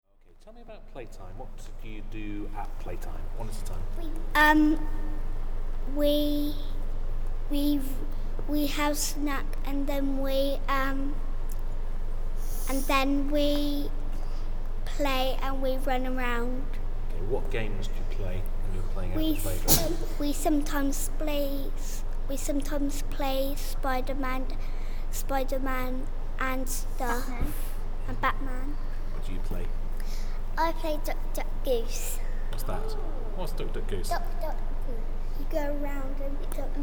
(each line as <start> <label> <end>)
4.0 Playground talking games 5.0
5.8 Playground talking games 6.7
7.5 Playground talking games 11.2
12.7 Playground talking games 14.0
14.8 Playground talking games 16.7
19.2 Playground talking games 28.8
30.1 Playground talking games 33.2
34.1 Playground talking games 36.8